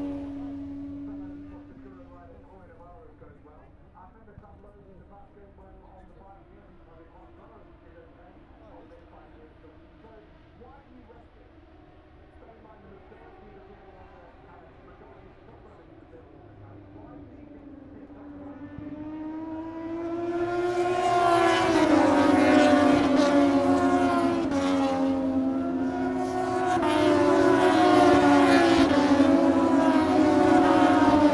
motorcycle grand prix 0:00.0 - 0:31.3

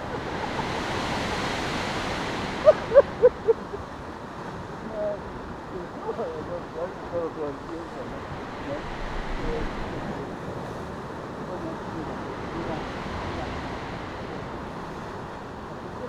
muffled conversations 0:04.6 - 0:16.0

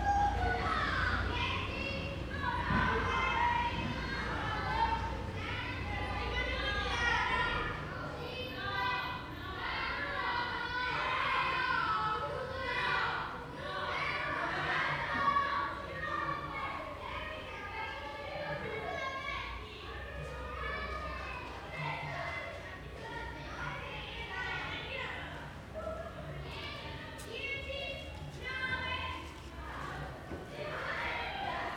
Children playing in the alleyways 0:00.0 - 0:31.7

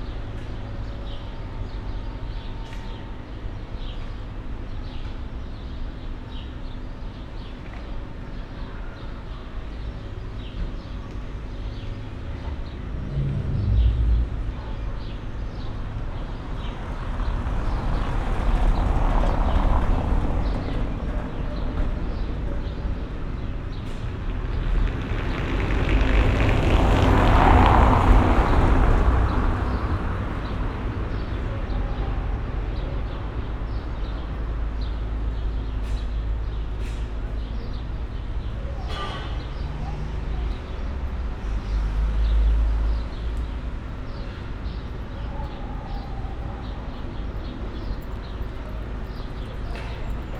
construction works 0:43.4 - 0:50.3

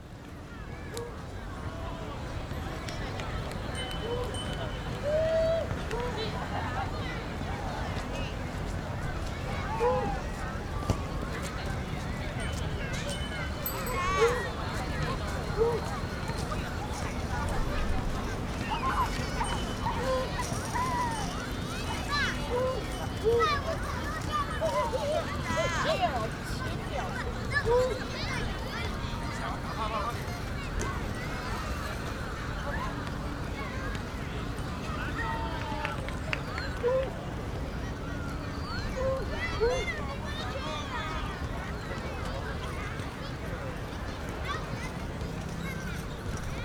kids 0:09.8 - 0:33.6

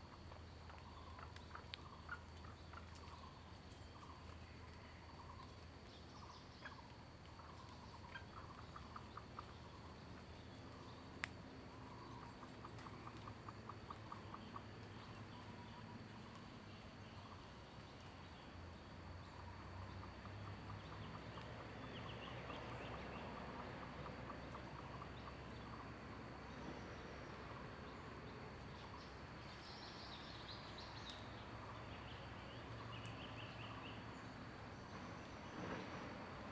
Bird sounds 0:00.0 - 0:36.5
Traffic Sound 0:19.0 - 0:36.5

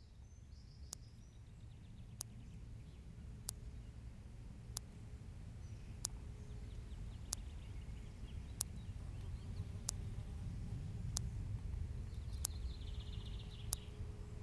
electric fence makes tic tic tic 0:02.0 - 0:14.4

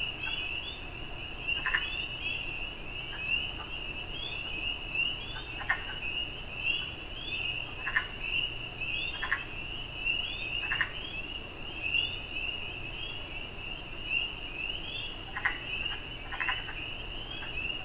Tree Frogs 0:00.2 - 0:11.2
Tree Frogs 0:11.9 - 0:17.8

